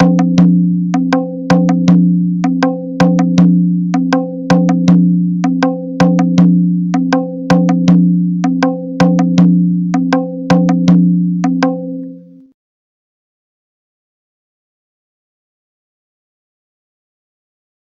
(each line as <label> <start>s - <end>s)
Taang 0.0s - 12.4s